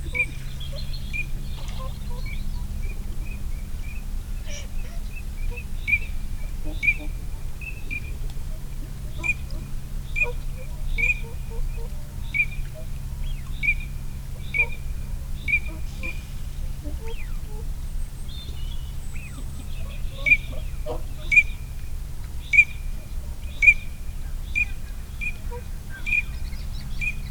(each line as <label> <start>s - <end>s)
pink-footed geese 0.0s - 3.4s
barnacle geese 0.0s - 27.3s
moorhen 0.0s - 27.3s
pink-footed geese 4.4s - 27.3s